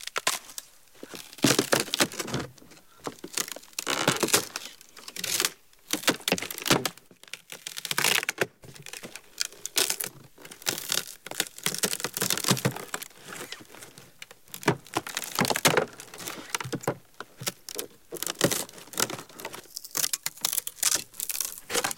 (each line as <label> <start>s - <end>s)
Wood-break-stress 1.0s - 21.9s